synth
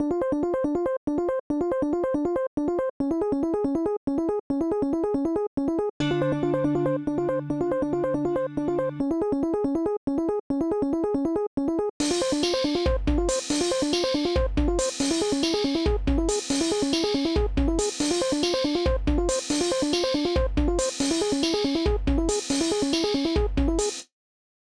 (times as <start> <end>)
6.0 9.6